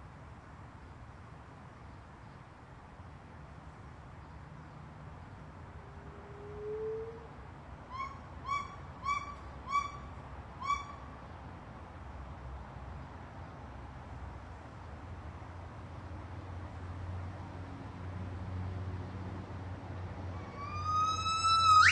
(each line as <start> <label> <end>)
7.9 White-cheeked Gibbons calling 11.1
20.4 White-cheeked Gibbons calling 21.9